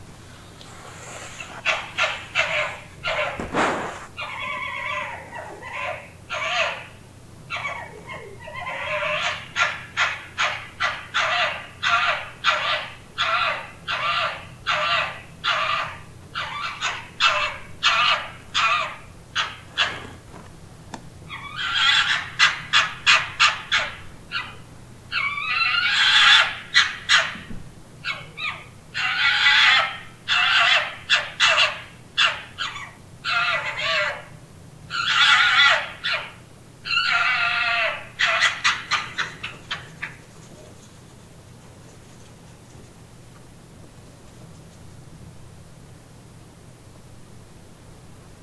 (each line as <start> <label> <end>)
1.0 urban fox call 20.2
21.3 urban fox call 40.8